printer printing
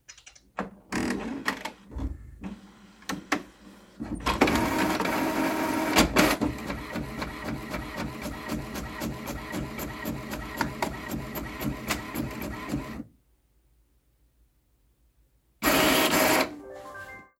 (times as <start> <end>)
1.1 13.1, 15.6 16.6